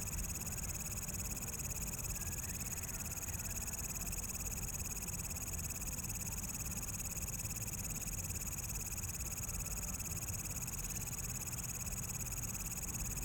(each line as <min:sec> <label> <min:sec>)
0:00.0 Insects 0:13.2